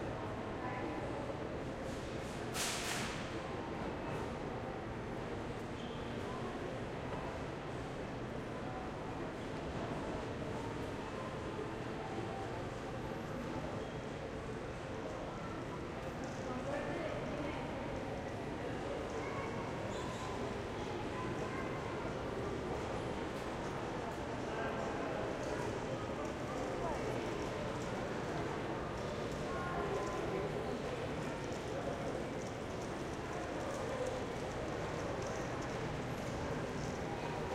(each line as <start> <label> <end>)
9.8 People passing by with metal carts 37.5